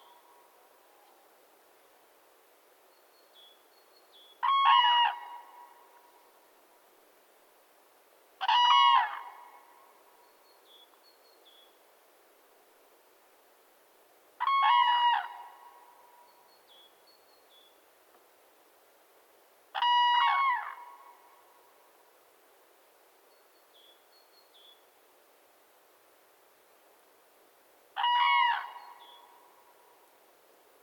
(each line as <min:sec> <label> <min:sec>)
0:04.4 pair of cranes (Grus grus) welcoming fellow fieldrecordist 0:06.0
0:08.4 pair of cranes (Grus grus) welcoming fellow fieldrecordist 0:09.7
0:14.4 pair of cranes (Grus grus) welcoming fellow fieldrecordist 0:16.0
0:19.7 pair of cranes (Grus grus) welcoming fellow fieldrecordist 0:21.3
0:28.0 pair of cranes (Grus grus) welcoming fellow fieldrecordist 0:29.7